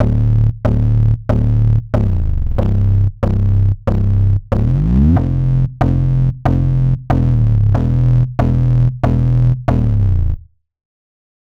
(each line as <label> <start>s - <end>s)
bass 0.0s - 10.6s